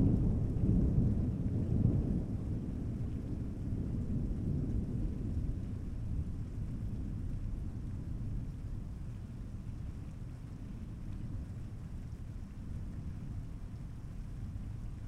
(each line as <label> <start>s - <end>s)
Thunder 0.0s - 8.6s
rain 0.0s - 15.0s